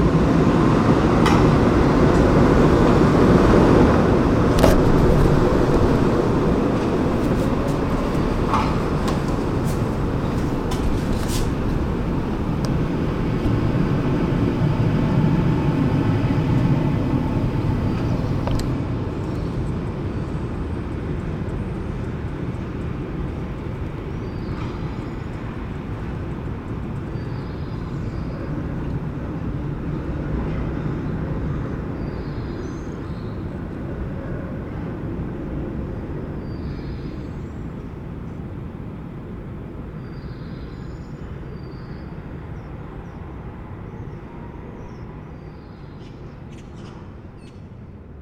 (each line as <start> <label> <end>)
4.5 birds 19.7
40.0 birds 47.8